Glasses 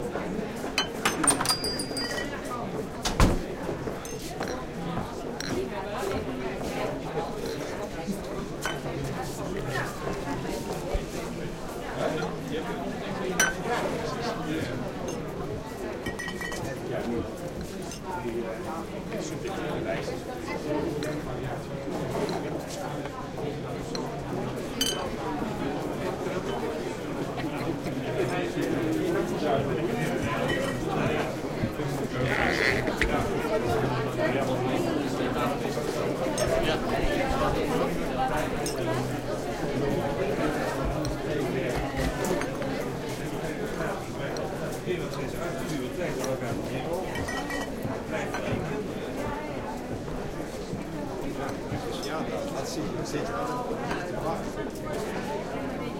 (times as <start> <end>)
0.8 2.5, 5.4 6.2, 13.4 13.6, 16.0 16.7, 24.8 25.1, 30.3 30.8, 47.1 47.7